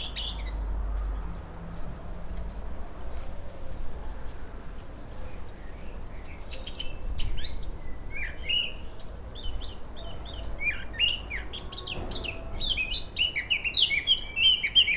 0.0s car passes in the street 6.3s
0.0s birds in the garden 14.9s
0.0s wind in the trees 14.9s

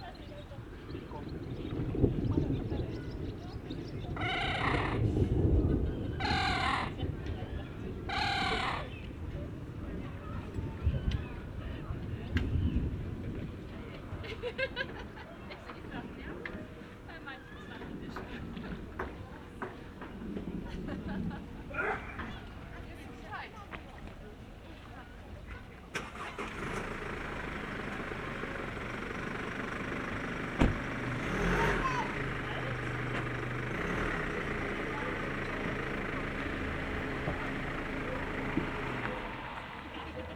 0.6s approaching thunderstorm 14.5s

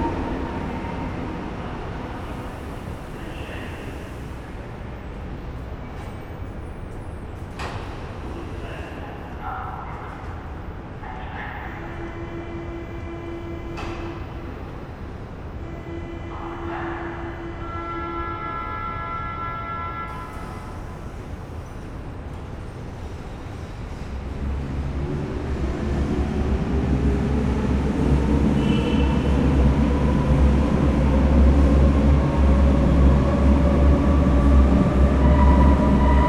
0.0s trains in both directions 36.2s

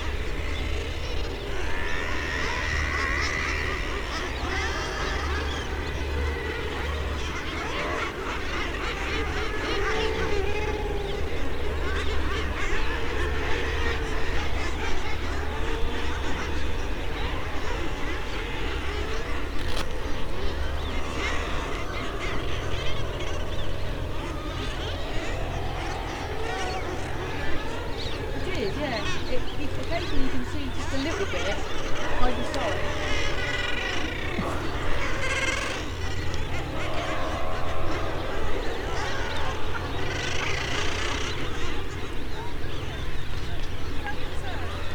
0.0s background noise from people 44.9s
0.0s bird calls from kittiwakes 44.9s
0.0s boats 44.9s
0.0s nesting guillemots 44.9s
0.0s young guillemots making piping calls 44.9s

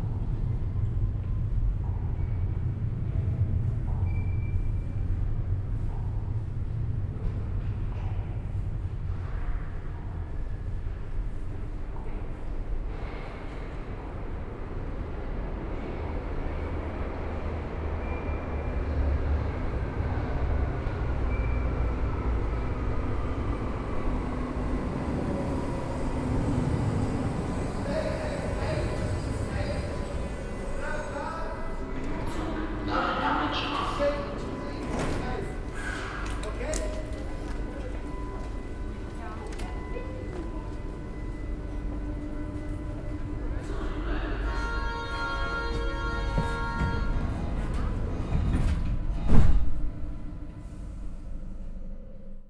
0.0s few people around 51.4s

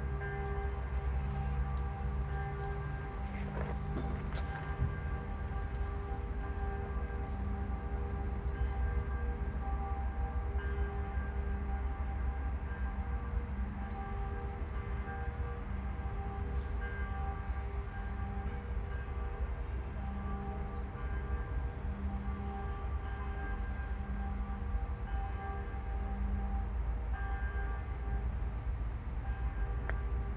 0.0s warning sirens 13.6s
0.0s 12 o'clock bells ring 28.1s
2.7s shuffling of his feet on gravel 5.9s

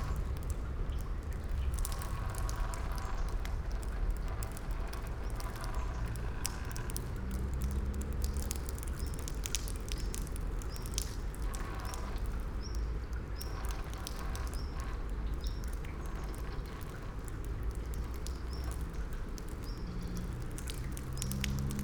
0.0s rain 21.8s

